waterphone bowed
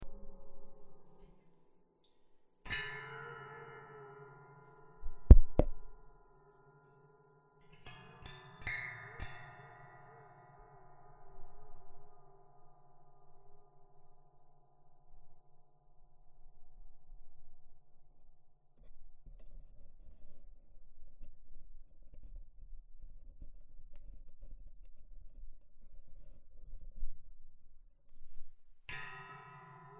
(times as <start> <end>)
28.9 29.9